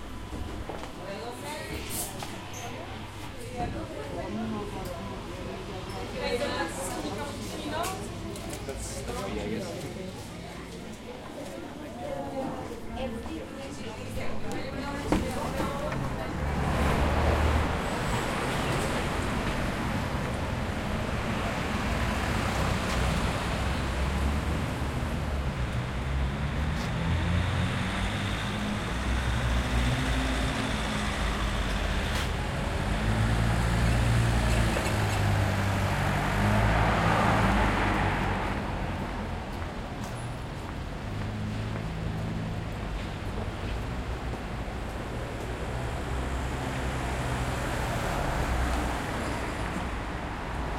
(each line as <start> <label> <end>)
0.0 medium crowd 50.7
0.0 traffic sounds 50.7
12.3 bus passing 50.7